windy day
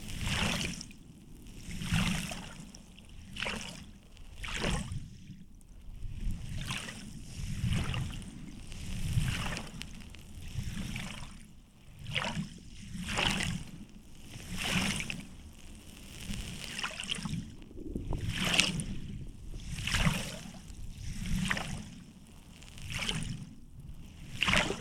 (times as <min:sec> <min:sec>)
0:12.8 0:24.8